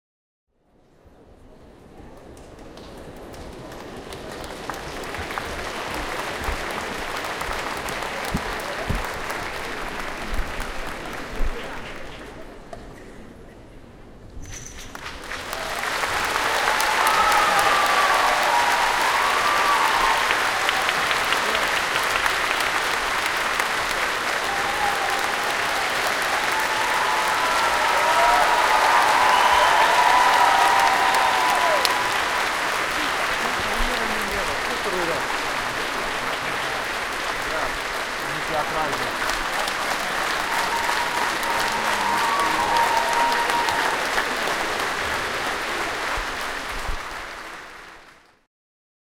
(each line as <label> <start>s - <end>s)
Applause BIG 1.8s - 13.1s
Applause BIG 14.6s - 48.5s
cheers 15.3s - 48.2s